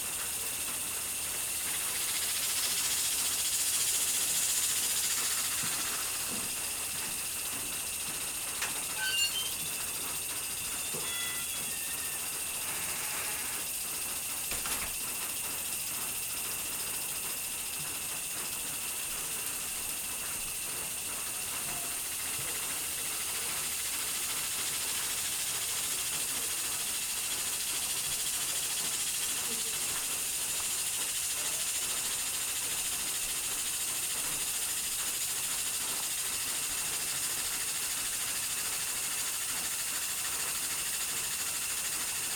sprinkler system turned on 0.0 - 42.3

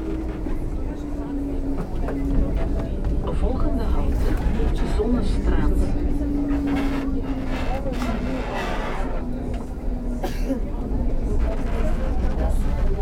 Tram ride 0.0 - 13.0

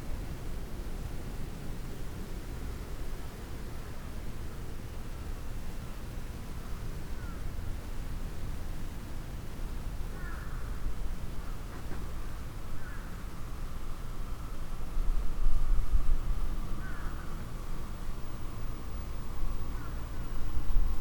crows 10.2 - 10.8
passengers trains 11.1 - 21.0
crows 12.8 - 13.1
shinkansen 14.6 - 21.0
crows 16.8 - 17.2

